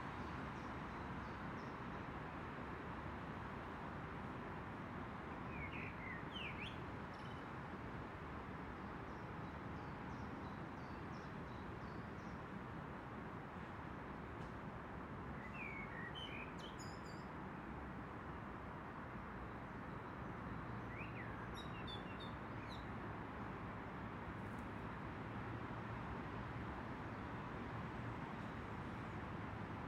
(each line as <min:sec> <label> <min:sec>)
0:00.0 traffic encircling the park 0:29.8